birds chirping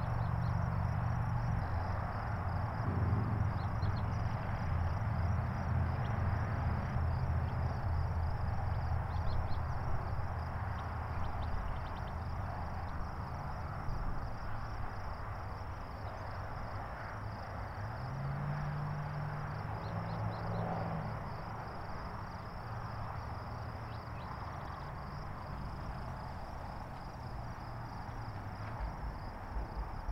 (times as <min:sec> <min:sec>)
0:03.4 0:04.2